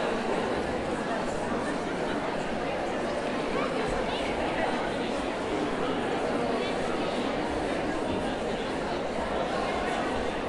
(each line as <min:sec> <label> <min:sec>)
0:00.0 crowd noise 0:10.4